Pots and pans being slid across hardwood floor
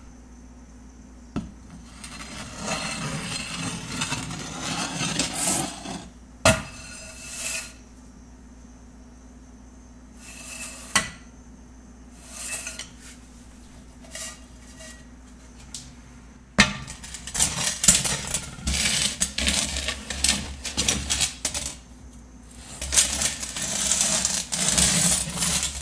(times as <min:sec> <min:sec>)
0:01.7 0:07.8, 0:10.2 0:11.1, 0:12.1 0:15.7, 0:17.0 0:21.8, 0:22.5 0:25.8